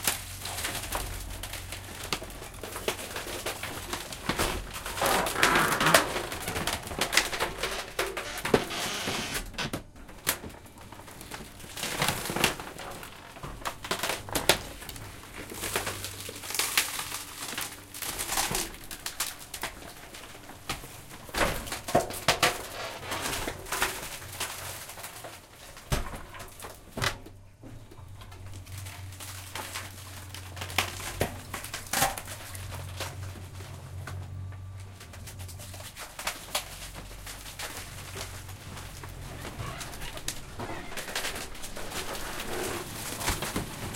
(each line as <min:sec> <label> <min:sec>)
0:00.0 machine that crushes all the garden waste 0:43.9